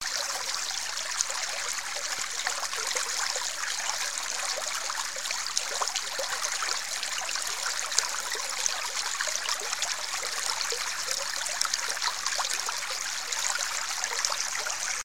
creek 0:00.0 - 0:15.0

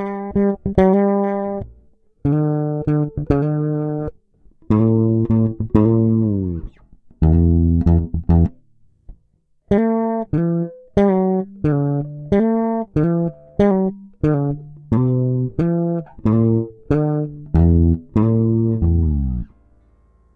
Fretless jBass 8ttva squacks 0:00.0 - 0:19.8

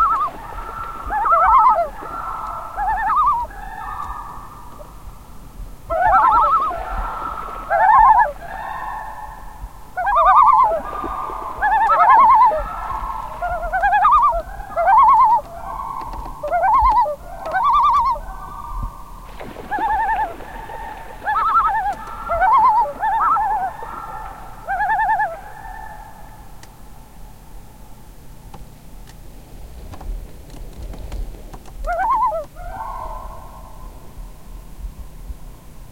canadian loons 0:00.0 - 0:05.1
canadian loons 0:05.9 - 0:26.8
canadian loons 0:31.8 - 0:34.2

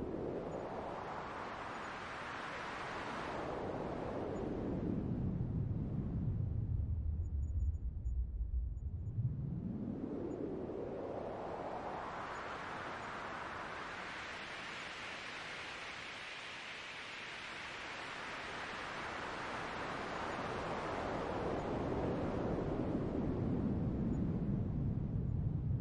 Wind like noise 0:00.0 - 0:25.8

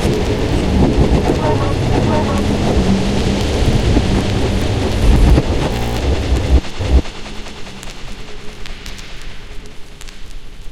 very active drone 0:00.0 - 0:09.6

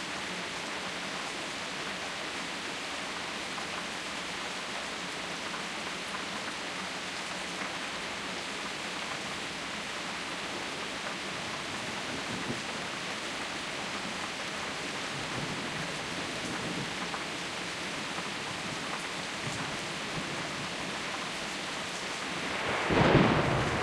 rain 0:00.0 - 0:23.8
thunder claps 0:22.5 - 0:23.8

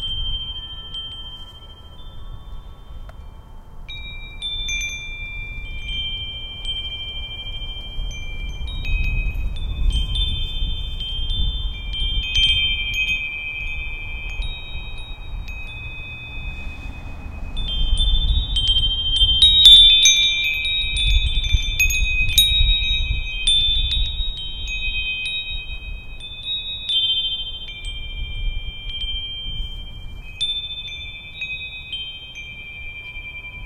wind chimes 0:00.0 - 0:33.6

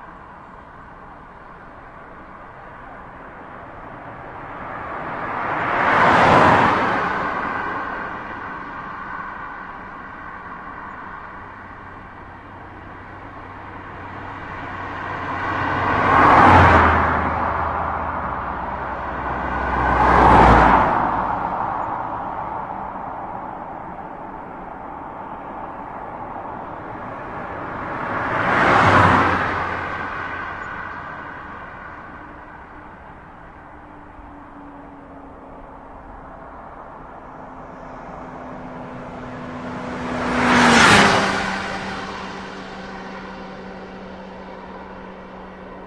car passing 0:00.0 - 0:45.8
motor bike 0:26.6 - 0:45.8

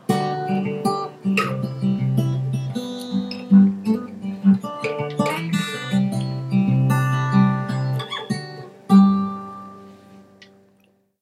guitar 0:00.0 - 0:11.1

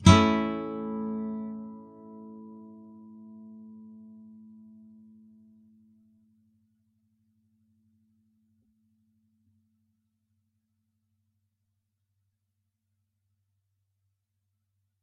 nylon guitar 0:00.0 - 0:05.9

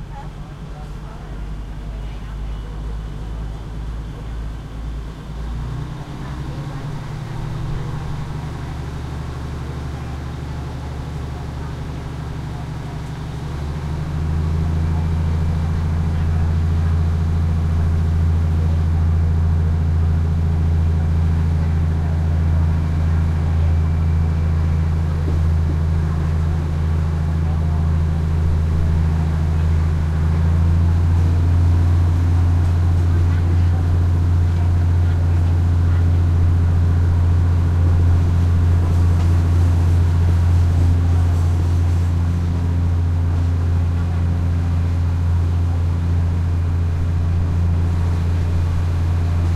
loud engine 0:00.0 - 0:49.5
passenger commuter train 0:00.0 - 0:49.5
thai chatter walla 0:00.0 - 0:49.5

